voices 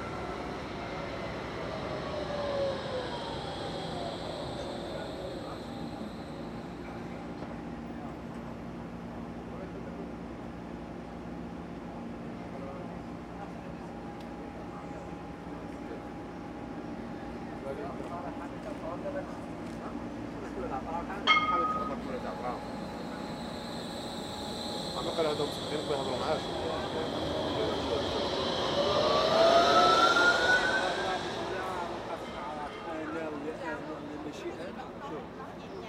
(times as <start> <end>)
0.0 8.2, 17.2 35.8